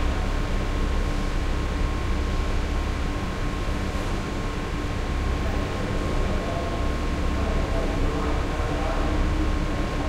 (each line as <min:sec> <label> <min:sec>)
0:00.0 heavy ventilation hum 0:10.0